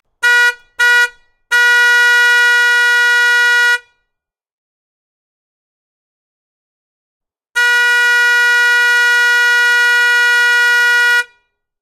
school bus truck horn honk 0.1 - 4.0
school bus truck horn honk 7.6 - 11.6

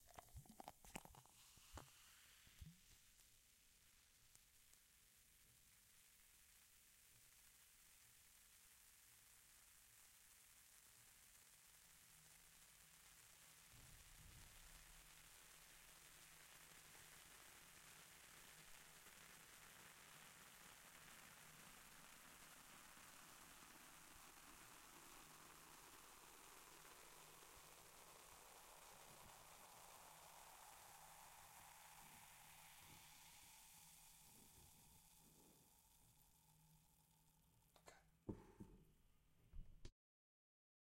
glass being filled with a soft drink 0.0 - 3.0

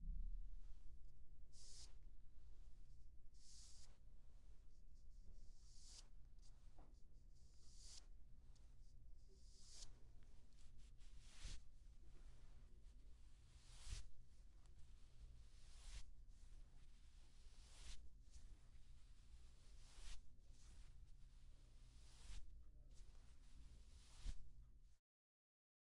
Clothes 13.6 - 14.2
Clothes 17.4 - 18.7
Clothes 21.9 - 24.5

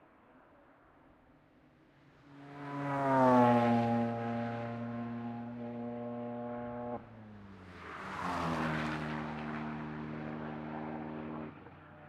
race cars passing by 2.1 - 12.0

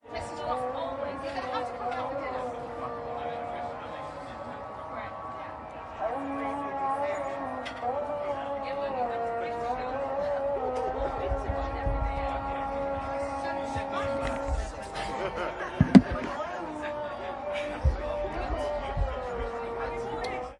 talk 0.1 - 20.5
muezzin 0.9 - 20.5

